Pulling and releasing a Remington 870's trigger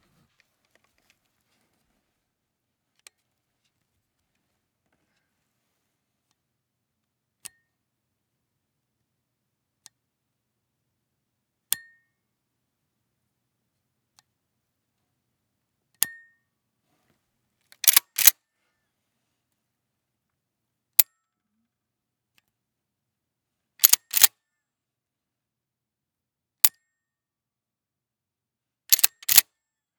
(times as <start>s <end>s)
17.8s 18.4s, 23.8s 24.3s, 28.9s 29.5s